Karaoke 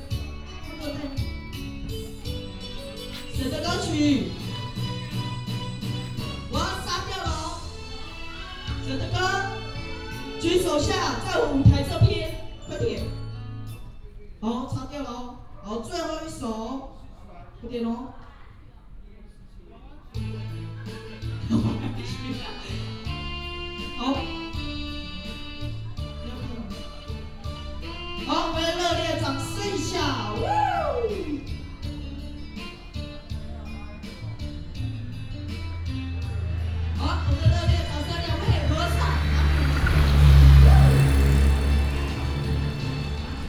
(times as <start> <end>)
20.4 41.1